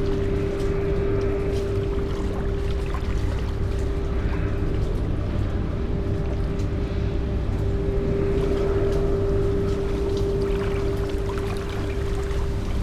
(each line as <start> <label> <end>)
0.0 free flowing waves over concrete surface 12.8